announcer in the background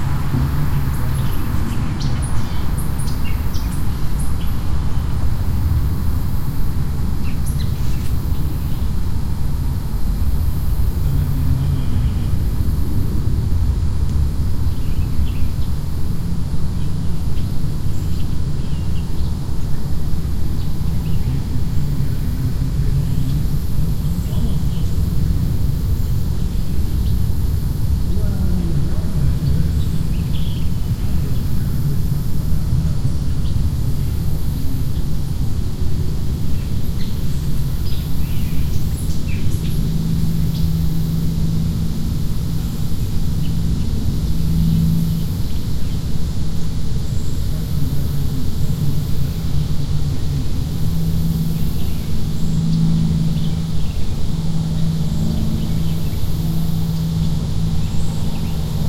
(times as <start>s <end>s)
27.9s 33.2s